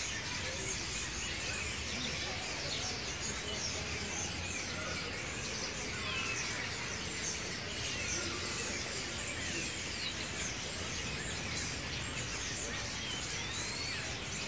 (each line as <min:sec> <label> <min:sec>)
0:00.0 children chirping and calling 0:14.4
0:00.0 noisy starlings 0:14.4